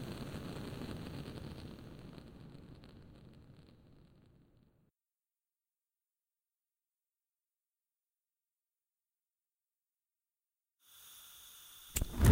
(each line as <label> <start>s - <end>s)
flamethrower 11.9s - 12.3s